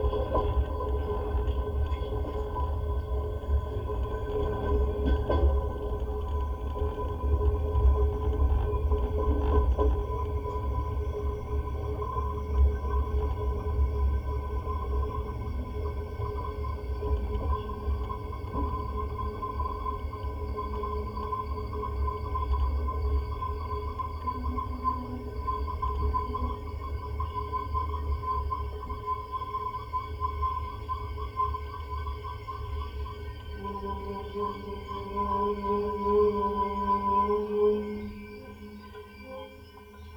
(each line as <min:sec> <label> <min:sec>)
0:33.5 train sounds 0:40.0